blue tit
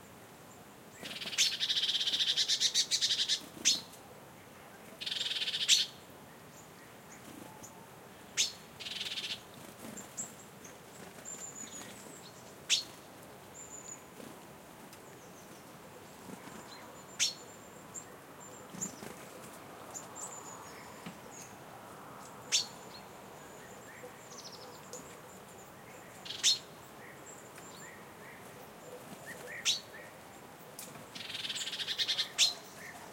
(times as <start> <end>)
1.0 4.0, 5.0 6.0, 8.4 10.4, 11.2 13.0, 16.2 19.3, 22.5 30.2, 30.8 33.1